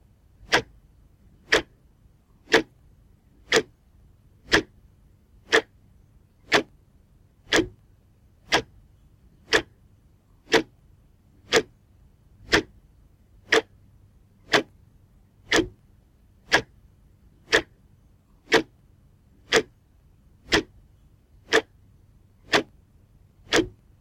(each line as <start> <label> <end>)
0.4 Wall clock tick tack 0.7
1.5 Wall clock tick tack 1.7
2.5 Wall clock tick tack 2.7
3.5 Wall clock tick tack 3.7
4.4 Wall clock tick tack 4.7
5.5 Wall clock tick tack 5.7
7.5 Wall clock tick tack 7.8
8.5 Wall clock tick tack 8.7
9.5 Wall clock tick tack 9.7
10.5 Wall clock tick tack 10.7
11.5 Wall clock tick tack 11.7
12.5 Wall clock tick tack 12.7
13.5 Wall clock tick tack 13.7
14.5 Wall clock tick tack 14.7
15.5 Wall clock tick tack 15.8
16.5 Wall clock tick tack 16.7
17.5 Wall clock tick tack 17.7
18.5 Wall clock tick tack 18.7
19.5 Wall clock tick tack 19.7
20.5 Wall clock tick tack 20.7
21.5 Wall clock tick tack 21.7
22.5 Wall clock tick tack 22.7
23.5 Wall clock tick tack 23.8